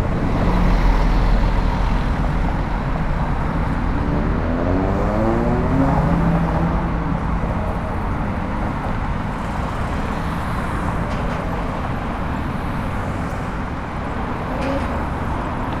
0.0s Traffic coming and going on the boulevard 15.8s

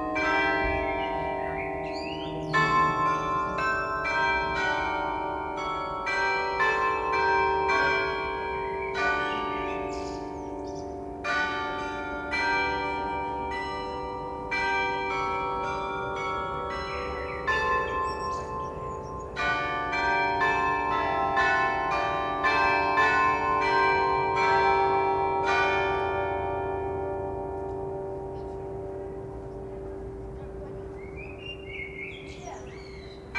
0.6s Blackbird song 3.6s
8.7s Blackbird song 11.0s
17.2s Blackbird song 19.4s
30.4s Blackbird song 33.3s

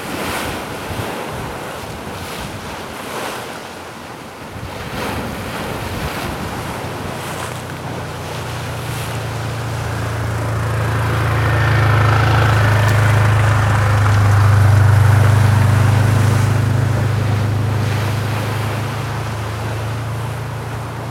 0.0s sea that is hitting and copiously washing the street 21.1s
7.2s scooters and quads 19.8s

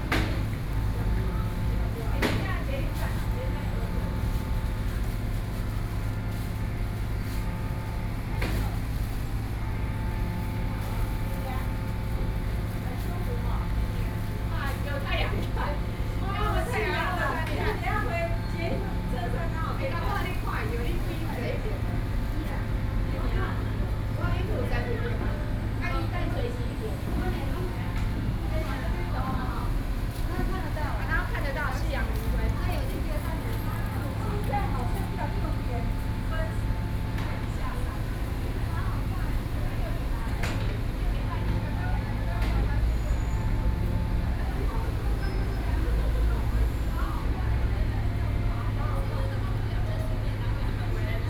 0.0s construction machinery 51.2s
0.0s group of women chatting 51.2s

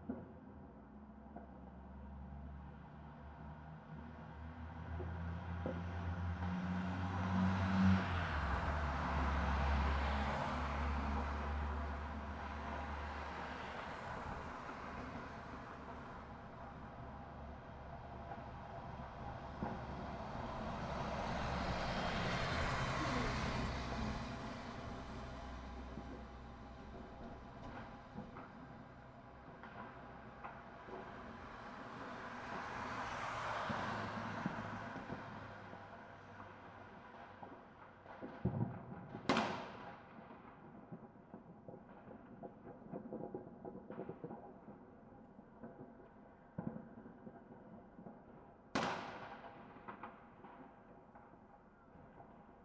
8.0s Fireworks 52.6s

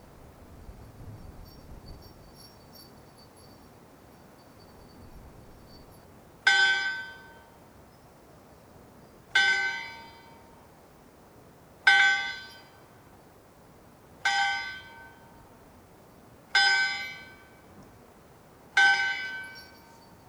1.4s bell that ringed all night 7.4s
18.8s bell that ringed all night 20.2s

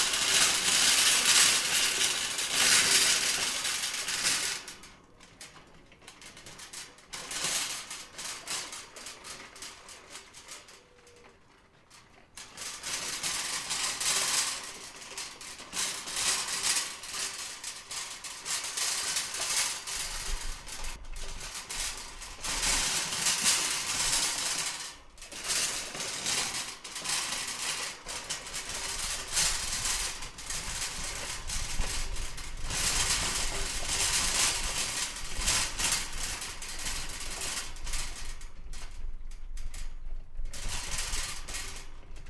0.0s trolley rattles 42.2s

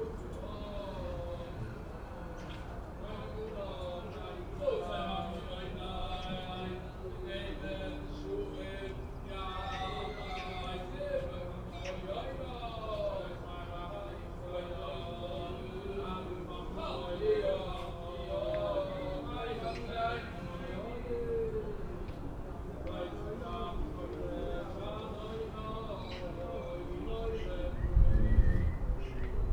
0.0s Orthodox Jews singing the liturgy 29.5s

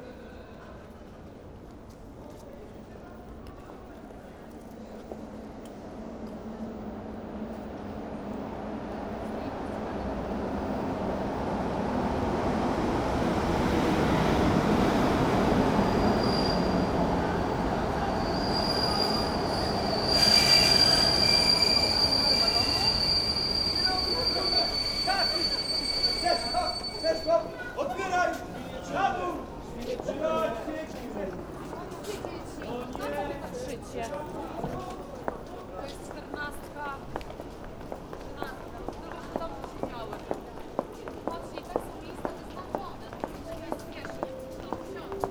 0.0s train arival commotion 45.3s

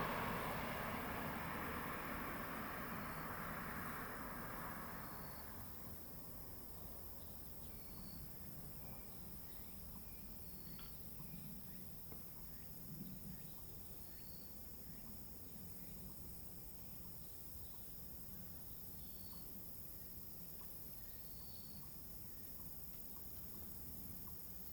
0.0s traffic sound 6.6s

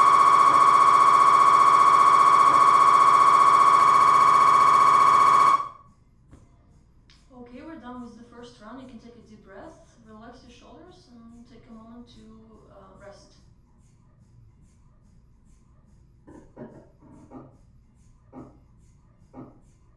0.0s MRI scan 5.8s

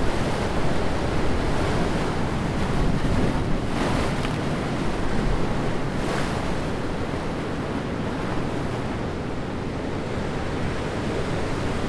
0.0s Anne river enters the sea 11.8s
0.0s waves sloshing beneath a concrete grille 11.8s

